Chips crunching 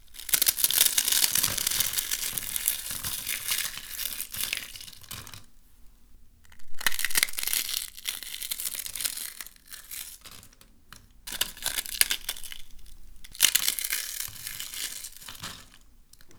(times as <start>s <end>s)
6.6s 8.8s